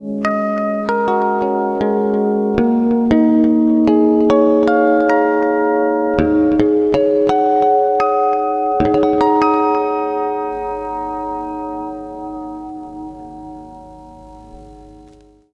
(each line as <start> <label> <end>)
0.0 natural harmonics played with Ibanez electric guitar 15.5